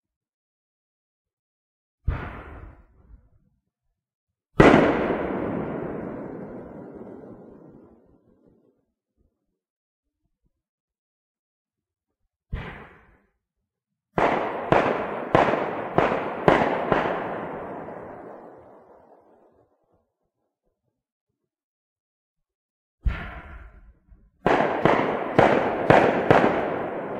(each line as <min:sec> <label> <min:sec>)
0:04.6 firecracker bangs 0:07.8
0:14.2 firecracker bangs 0:18.8
0:24.5 firecracker bangs 0:27.1